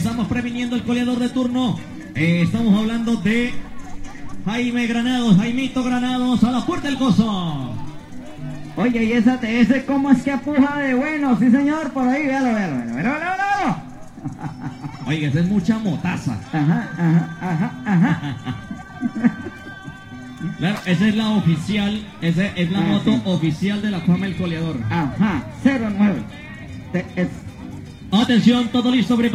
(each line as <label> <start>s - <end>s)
riding a horse after cow 1.2s - 23.8s